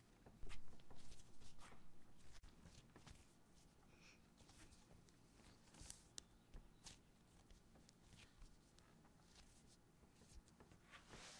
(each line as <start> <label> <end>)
0.1 Kneading Bread 11.3
2.9 background bird noise 9.2